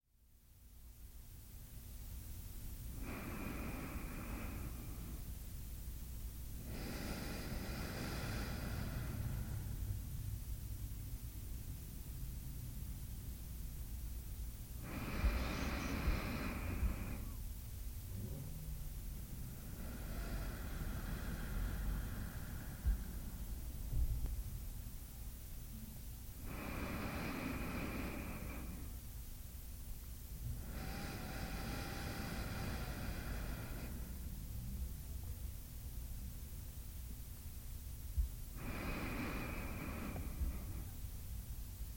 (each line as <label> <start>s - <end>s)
very faint traffic noise 0.1s - 41.9s
Woman taking six slow, deep breaths 2.9s - 10.2s
Woman taking six slow, deep breaths 14.8s - 17.5s
Woman taking six slow, deep breaths 19.2s - 24.1s
Woman taking six slow, deep breaths 26.4s - 29.1s
Woman taking six slow, deep breaths 30.4s - 34.5s
Woman taking six slow, deep breaths 38.2s - 41.3s